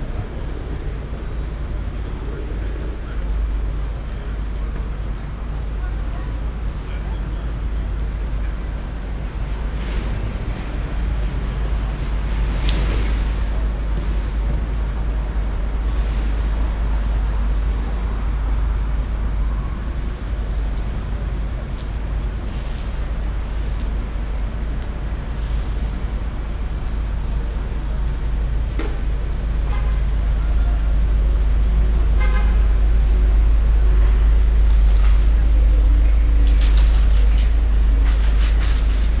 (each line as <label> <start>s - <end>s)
traffic 0.0s - 39.2s